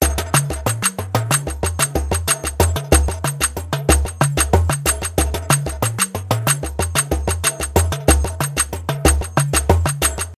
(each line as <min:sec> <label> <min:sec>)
0:00.0 percussion instruments 0:10.3